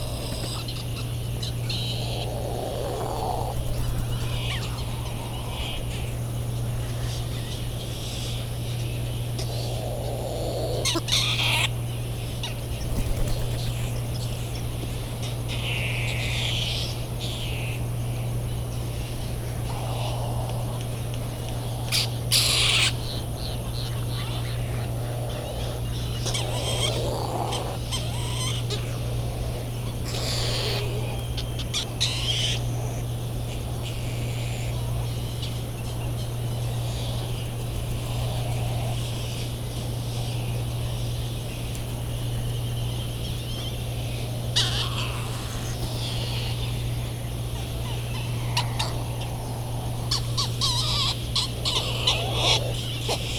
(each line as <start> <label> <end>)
0.0 calls and bill claps from Laysan Albatross 6.4
0.0 white tern calls 14.0
0.0 calls and flight calls of Bonin Petrel 53.3
0.0 cricket ticking away the seconds 53.3
19.0 white tern calls 39.4
19.2 calls and bill claps from Laysan Albatross 36.2
43.4 white tern calls 53.3
43.5 calls and bill claps from Laysan Albatross 53.3